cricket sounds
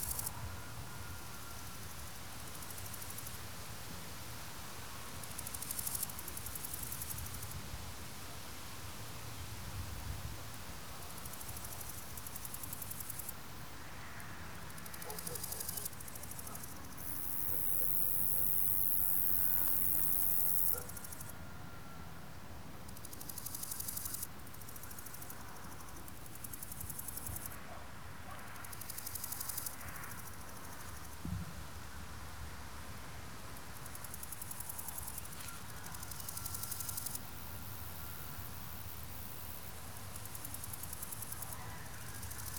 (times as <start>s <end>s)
11.0s 21.3s, 22.9s 27.6s, 28.3s 31.2s, 33.8s 42.5s